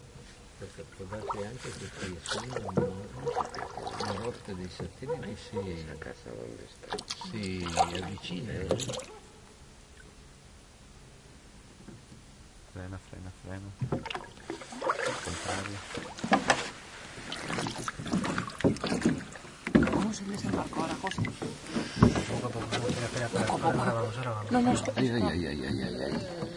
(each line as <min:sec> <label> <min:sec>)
0:00.0 noise of a small boat reaching a wharf 0:26.5
0:00.3 paddling 0:05.8
0:02.7 distant dog barking 0:03.5
0:05.0 distant dog barking 0:06.0
0:06.8 paddling 0:09.5
0:09.0 distant dog barking 0:09.5
0:13.8 paddling 0:26.5
0:19.8 quiet talk 0:26.5